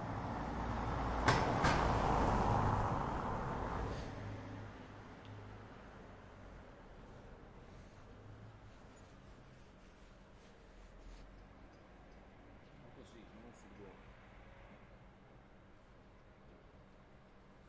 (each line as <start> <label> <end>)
0.0 Crossing car 9.3